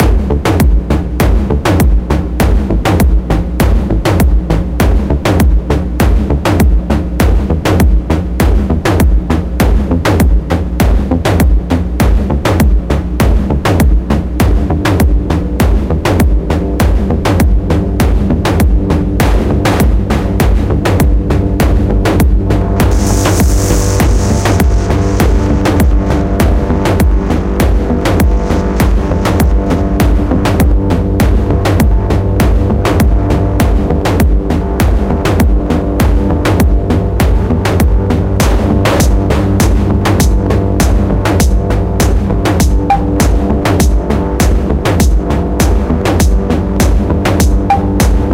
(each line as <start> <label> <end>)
0.0 percussion loop 48.3
14.5 Synths 48.3